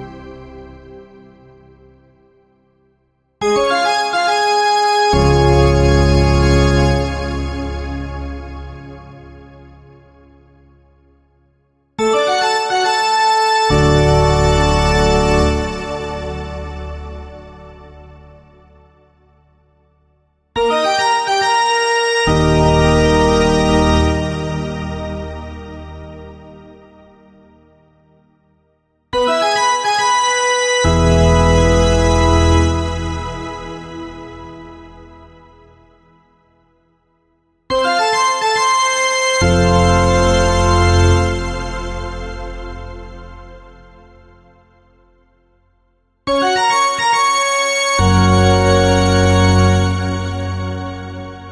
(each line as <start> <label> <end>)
3.4 played by another pipe organ 9.4
12.1 played by another pipe organ 18.4
20.6 played by another pipe organ 26.8
29.2 played by another pipe organ 35.8
37.7 played by another pipe organ 44.4
46.3 played by another pipe organ 51.5